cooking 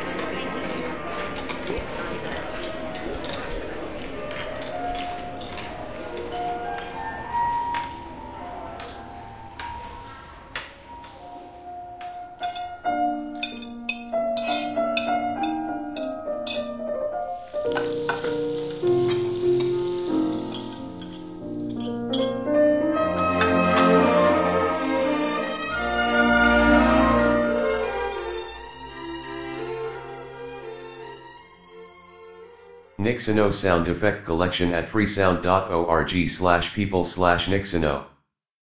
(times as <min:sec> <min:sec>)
0:12.0 0:25.0